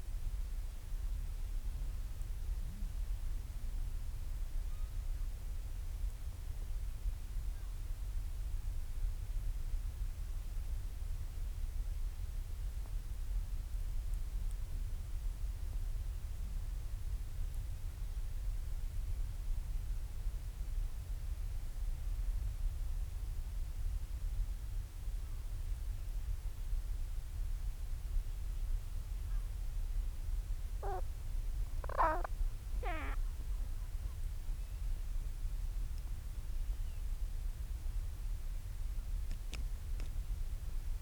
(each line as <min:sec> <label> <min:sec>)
0:30.8 storm petrel calls and purrings 0:33.3